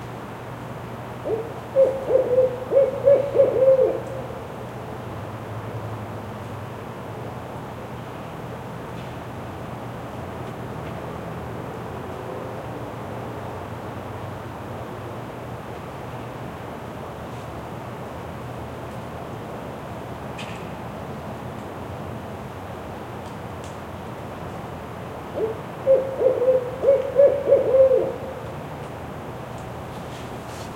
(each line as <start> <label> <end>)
1.2 owl hoot 4.4
25.4 owl hoot 28.4